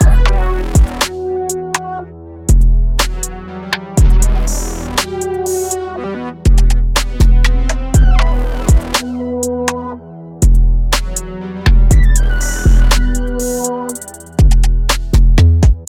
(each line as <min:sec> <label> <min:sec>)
0:00.0 intense percussion 0:01.2
0:00.0 bass 808 0:01.2
0:00.0 star wars synths 0:14.6
0:02.5 bass 808 0:03.4
0:04.0 bass 808 0:05.8
0:04.0 intense percussion 0:05.8
0:06.5 bass 808 0:09.8
0:06.5 intense percussion 0:09.8
0:10.4 bass 808 0:15.8
0:10.4 intense percussion 0:15.8